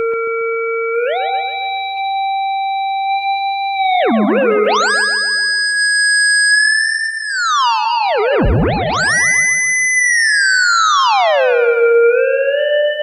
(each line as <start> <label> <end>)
0.0 theremin 13.0